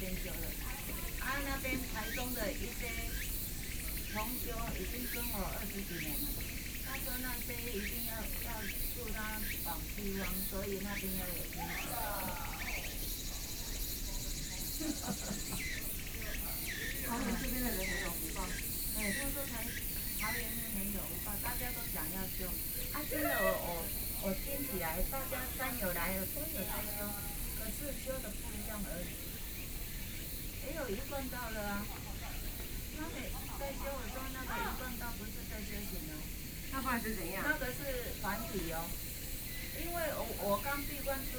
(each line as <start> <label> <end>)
0.0 Birds 41.3
0.0 Two women are sharing religion 41.3